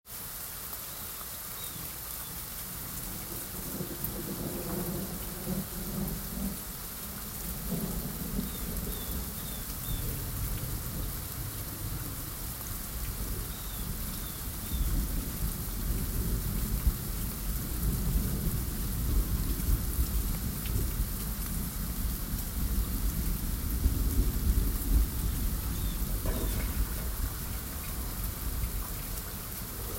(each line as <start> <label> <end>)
0.0 Medium Rain 29.9
0.0 wind 29.9
7.5 thunder 11.0
22.7 thunder 28.9